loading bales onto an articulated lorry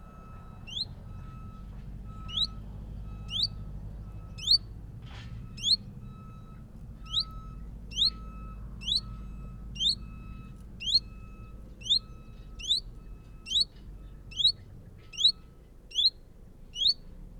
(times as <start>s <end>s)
0.0s 9.5s